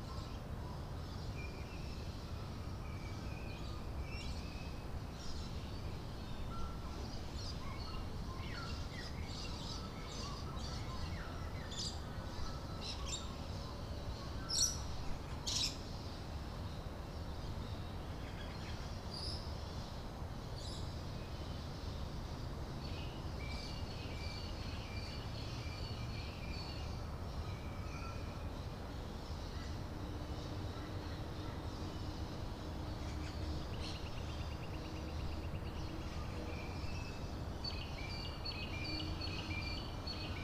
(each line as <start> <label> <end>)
0.0 Birds awake before the city 40.4